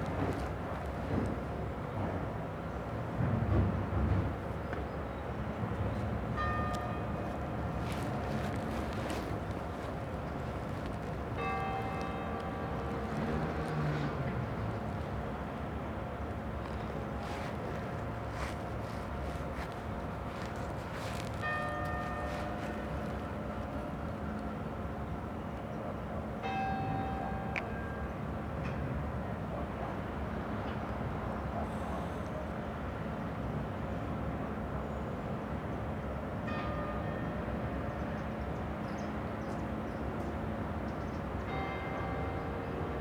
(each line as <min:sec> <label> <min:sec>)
0:00.0 traffic 0:34.8
0:11.4 bell is slowly tolling 0:13.6
0:21.1 bell is slowly tolling 0:23.7